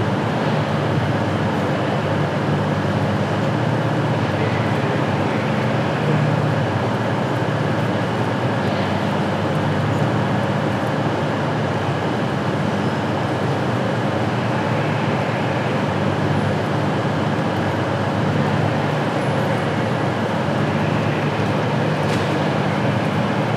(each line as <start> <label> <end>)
0.0 diesel train engine rumble 23.5